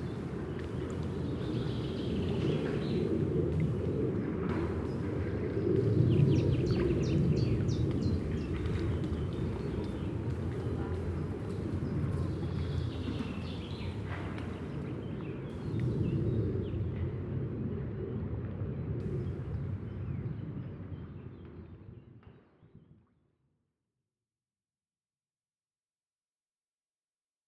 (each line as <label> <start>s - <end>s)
water 0.0s - 21.8s
plane is crosing the sky 0.0s - 20.9s